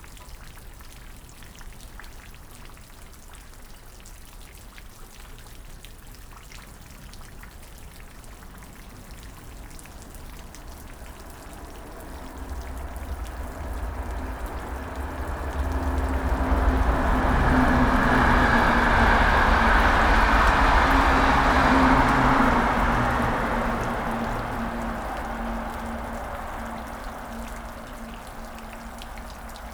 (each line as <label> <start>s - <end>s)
Constant rain 0.0s - 29.7s
fast trains 8.9s - 29.7s
low planes 8.9s - 29.7s